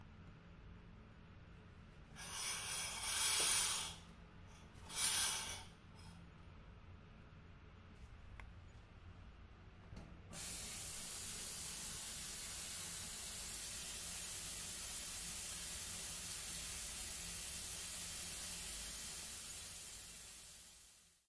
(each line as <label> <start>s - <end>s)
shower being turned on 2.2s - 4.0s
shower being turned on 4.9s - 5.7s
shower being turned on 10.3s - 21.2s